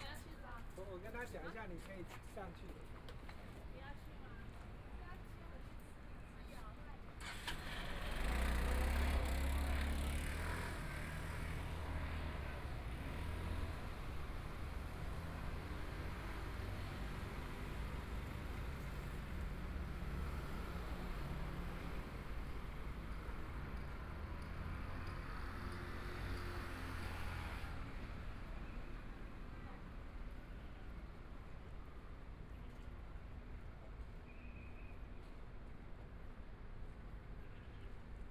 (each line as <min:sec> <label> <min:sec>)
0:00.0 walking in the Street 0:38.3
0:07.2 Traffic Sound 0:34.3